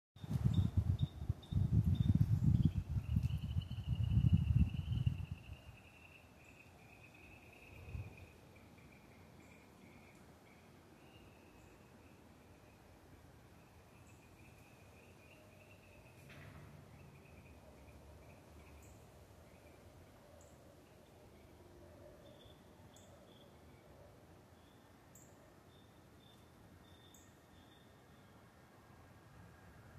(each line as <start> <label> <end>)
0.2 wind sounds 6.1